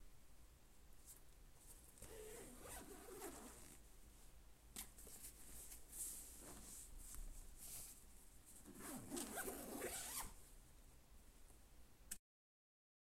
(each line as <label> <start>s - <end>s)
bag being unzipped and zipped up 2.0s - 3.8s
bag being unzipped and zipped up 8.7s - 10.4s